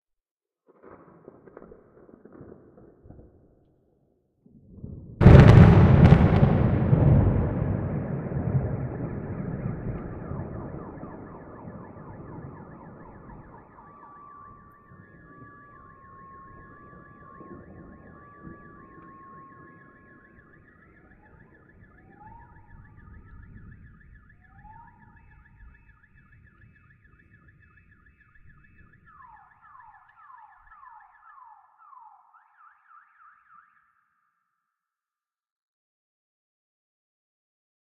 0.7s thunder 3.7s
4.5s thunder 29.3s
5.2s alarms 34.6s

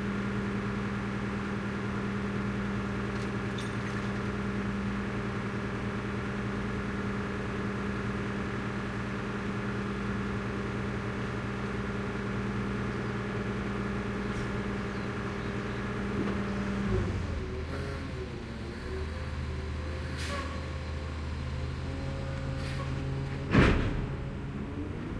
0.0s engine 25.1s
2.3s glass recycling truck arrives 25.1s

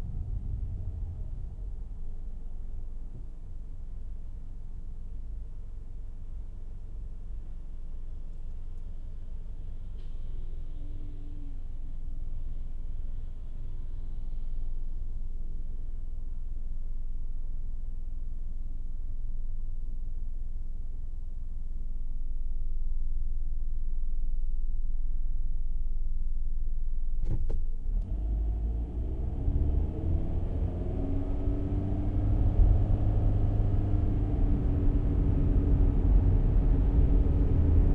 27.2s Gear change (automatic transmission) 34.0s
27.2s car interior 37.9s

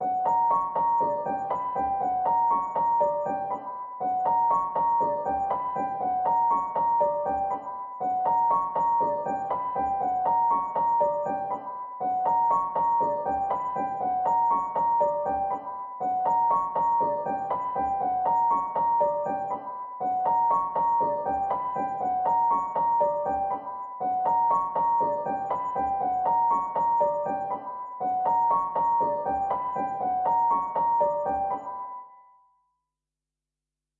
0.0s Piano 32.6s

